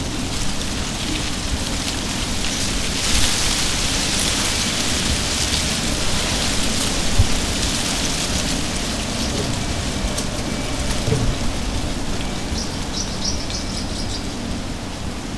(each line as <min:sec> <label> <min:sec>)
0:00.0 Leafs rattling in the wind 0:15.3